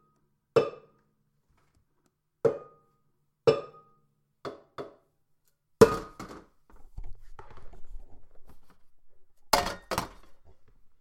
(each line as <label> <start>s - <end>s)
Metal cans being thrown into a plastic recycle bin 5.8s - 6.6s
Metal cans being thrown into a plastic recycle bin 9.5s - 10.5s